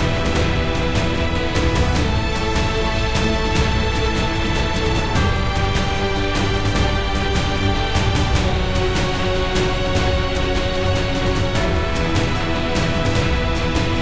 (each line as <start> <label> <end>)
0.0 Epic Orchestra 14.0